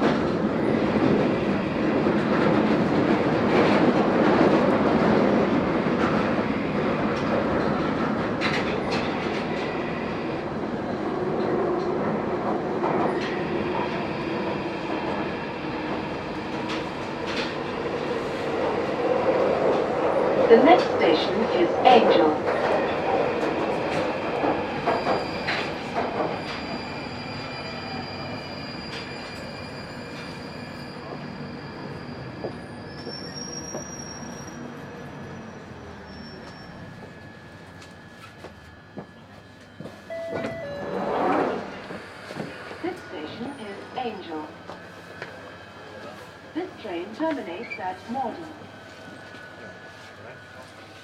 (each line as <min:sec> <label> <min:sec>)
0:00.0 Doors closing on a london underground train 0:51.0
0:00.0 full train journey through tunnel 0:51.0